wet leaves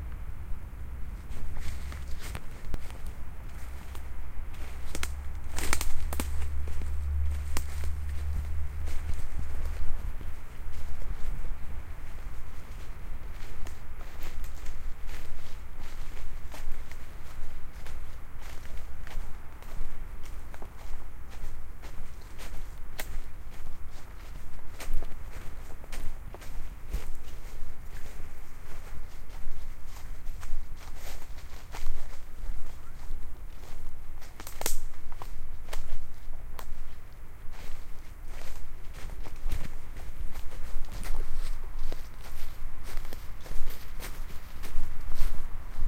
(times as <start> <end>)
1.1 21.4